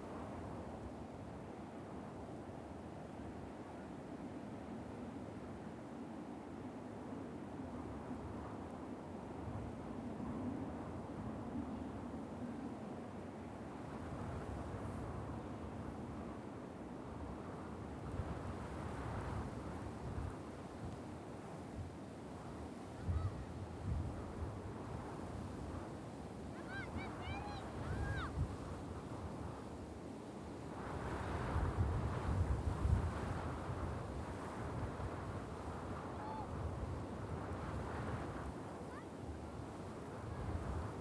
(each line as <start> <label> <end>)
0.0 winds 41.0
22.4 children playing in the dunes 29.6
33.4 children playing in the dunes 41.0